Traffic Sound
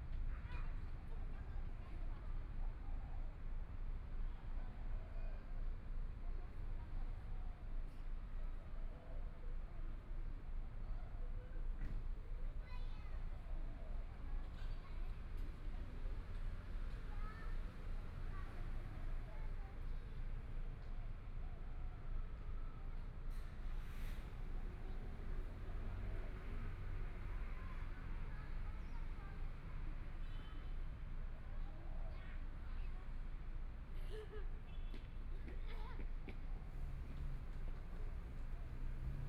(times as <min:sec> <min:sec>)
0:22.3 0:39.2